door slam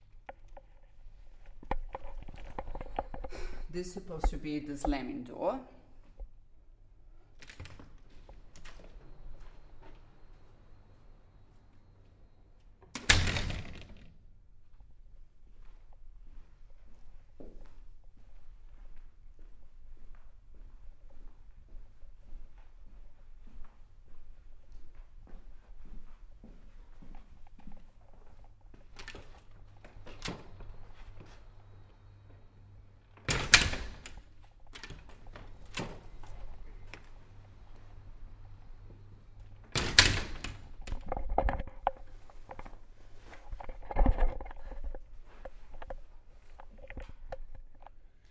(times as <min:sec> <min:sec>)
0:13.0 0:14.1, 0:33.3 0:34.2, 0:39.7 0:40.6